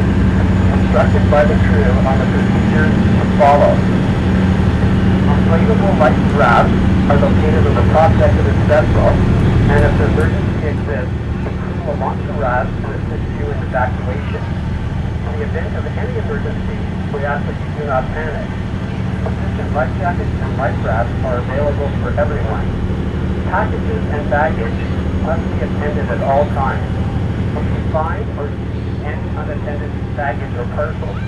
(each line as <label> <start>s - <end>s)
Ferry 0.0s - 31.2s